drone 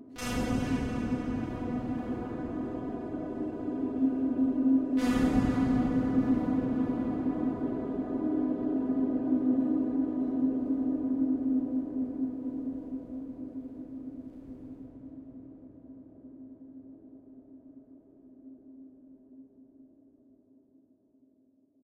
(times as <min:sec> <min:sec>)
0:00.2 0:15.1